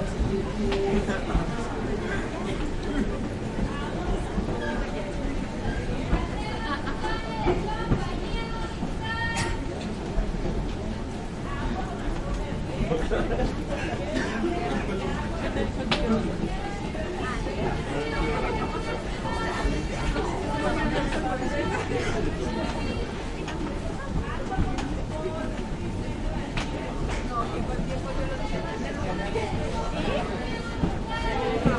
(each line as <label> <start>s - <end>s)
Big crowd walking 0.0s - 31.7s